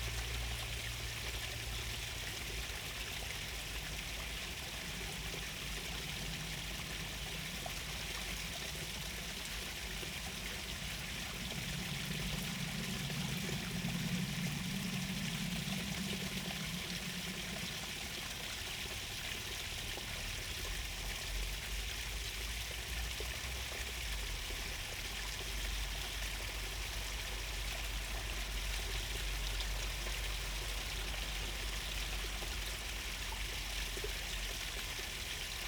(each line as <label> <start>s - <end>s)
Running stream water 0.0s - 35.6s
a plane 0.0s - 35.6s